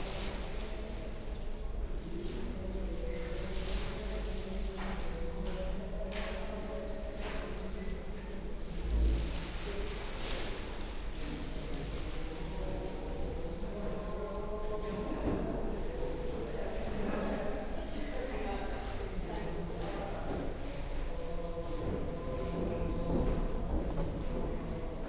Parishioners chat as they leave 0:00.0 - 0:25.0

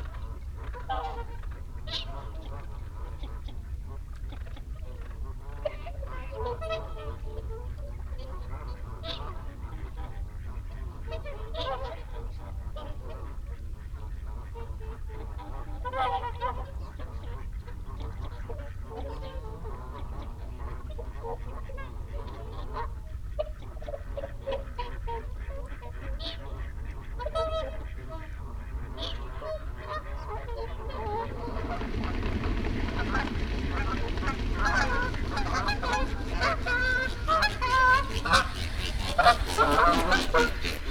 barnacle geese flock fly over 0:00.0 - 0:40.9
canada geese 0:00.0 - 0:40.9
mallard 0:00.0 - 0:40.9
mute swan 0:00.0 - 0:40.9
wigeon 0:27.1 - 0:40.9

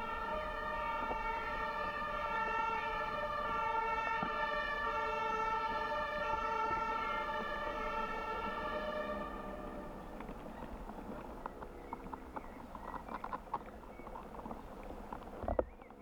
ambulance 0:00.0 - 0:12.7

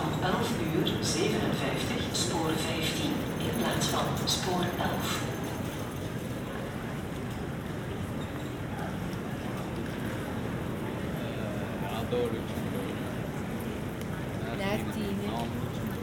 conversations 0:00.0 - 0:05.7
trains passing above 0:00.0 - 0:14.4
conversations 0:11.0 - 0:16.0

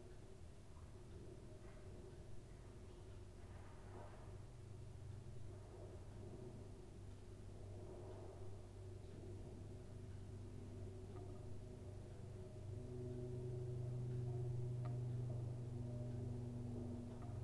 noise of the gas heating 0:00.0 - 0:17.4
planes crossing the sky 0:09.1 - 0:17.4

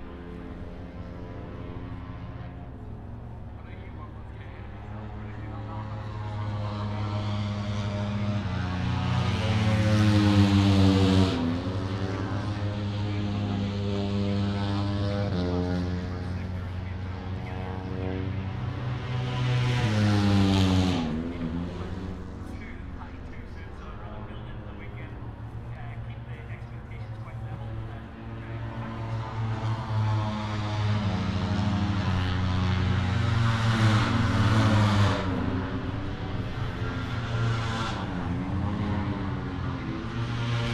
motorcycle grand prix 0:00.0 - 0:40.7

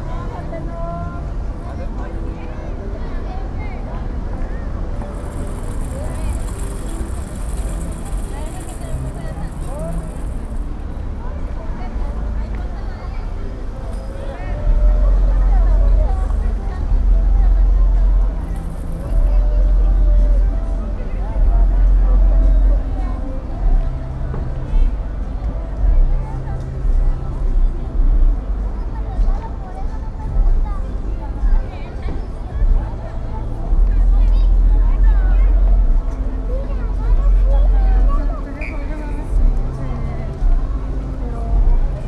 people coming and going 0:00.0 - 0:42.0
traffic officer 0:00.0 - 0:42.0
cars passing 0:03.5 - 0:42.0

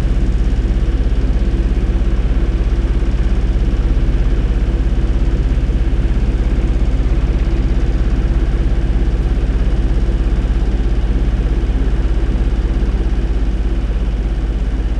generator 0:00.0 - 0:14.9

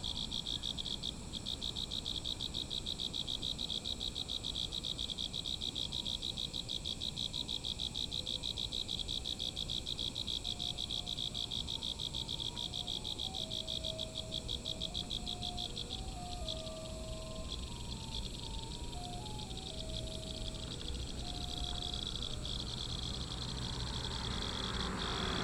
Insects sound 0:00.0 - 0:25.4
Traffic Sound 0:11.6 - 0:25.4

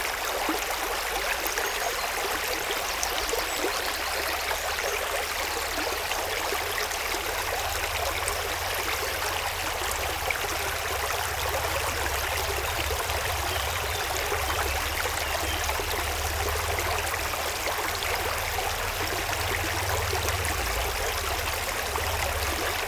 river, flowing in a very bucolic landcape 0:00.0 - 0:22.8

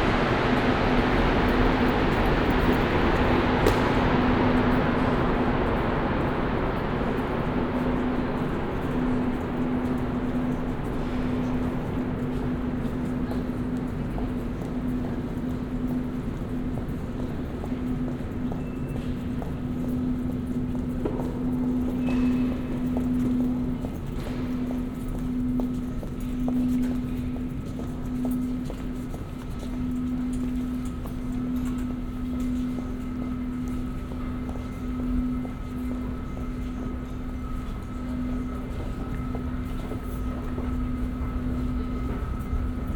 metro 0:00.0 - 0:42.9

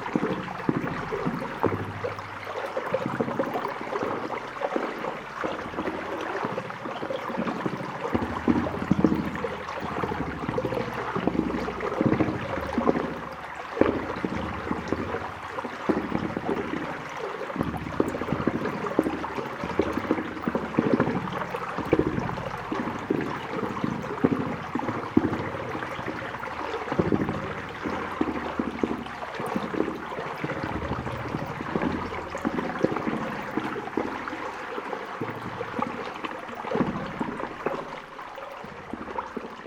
Bubbles in a pipe 0:00.0 - 0:39.6

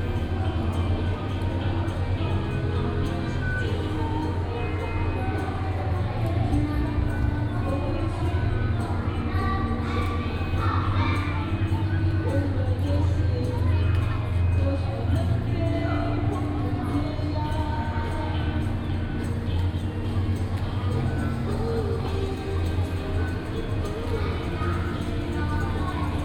distant Markets Activities 0:00.0 - 0:26.2
voice from the station hall 0:00.0 - 0:26.2

